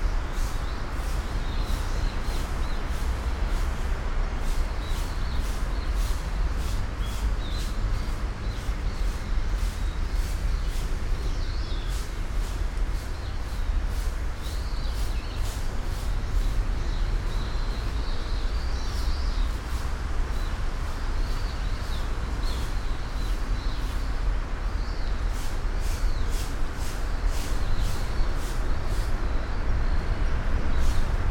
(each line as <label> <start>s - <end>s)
birds 0.0s - 31.3s
traffic noise 0.0s - 31.3s